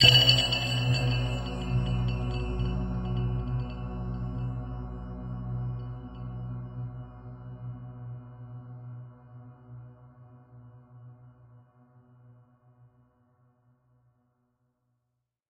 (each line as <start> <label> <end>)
0.0 cymbal sounds 2.7
0.0 Tweaked percussion 2.8
0.0 synths 2.9
0.0 Big Bell 3.9